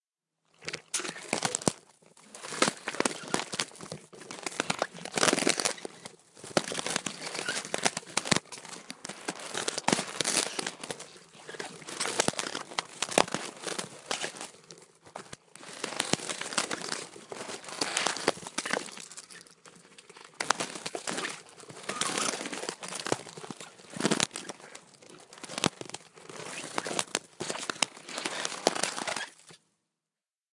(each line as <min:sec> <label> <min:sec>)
0:00.6 crunching 0:29.6